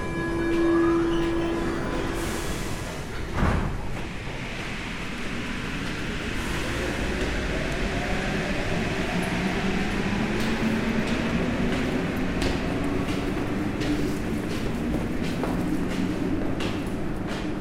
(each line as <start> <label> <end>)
0.0 arrivée dans le métro 17.6